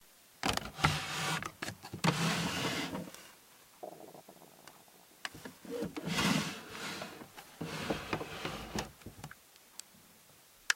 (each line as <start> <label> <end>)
0.4 Opening/closing a drawer 3.1
5.4 Opening/closing a drawer 9.0